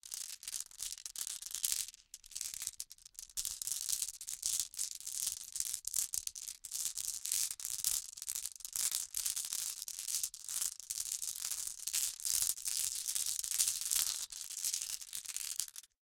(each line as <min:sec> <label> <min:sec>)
0:00.0 Glass marbles being shuffled around in cupped hands 0:16.0